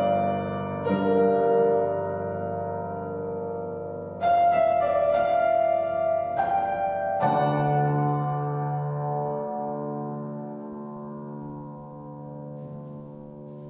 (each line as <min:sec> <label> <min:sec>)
0:00.0 piano improvisation 0:13.6